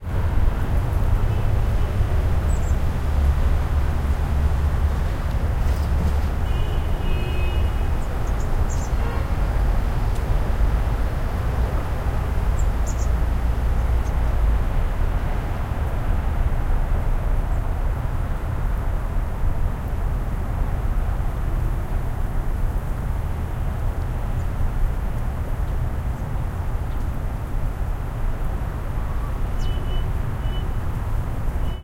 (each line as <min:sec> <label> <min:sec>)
0:00.0 Traffic in the background 0:31.8